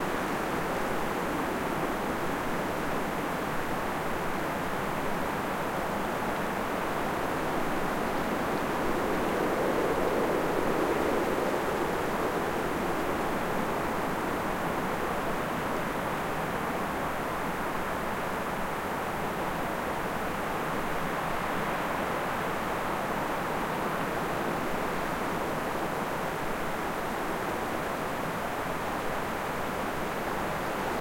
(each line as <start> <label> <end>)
0.0 light wind 31.0